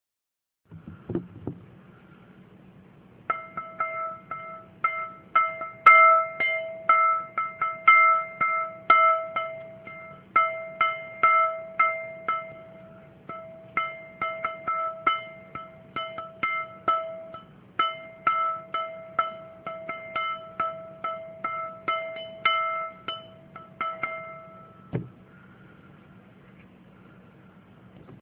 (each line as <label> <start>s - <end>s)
thumping the side with my finger 0.7s - 1.7s
thumping the side with my finger 24.9s - 25.2s